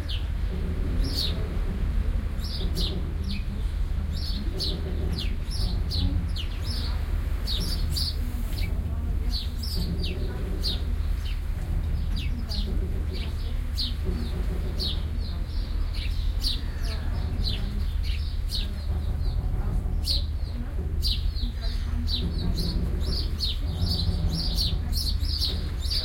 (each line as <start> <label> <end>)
0.0 people 26.0
0.0 sparrows 26.0
0.0 waves 26.0